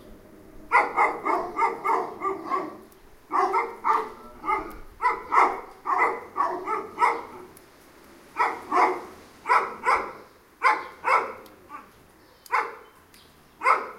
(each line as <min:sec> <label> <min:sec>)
0:00.7 Two dogs barking 0:07.6
0:08.3 Two dogs barking 0:11.9
0:12.5 Two dogs barking 0:12.9
0:13.6 Two dogs barking 0:13.9